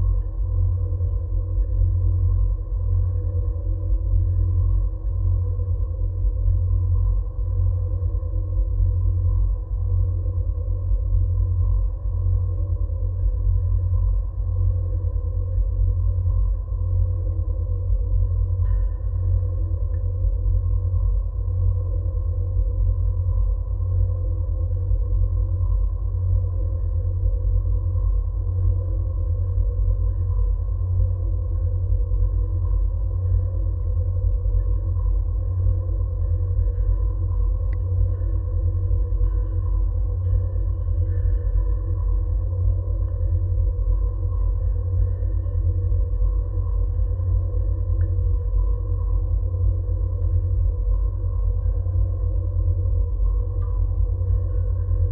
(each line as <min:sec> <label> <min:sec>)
0:00.0 tower drone 0:55.1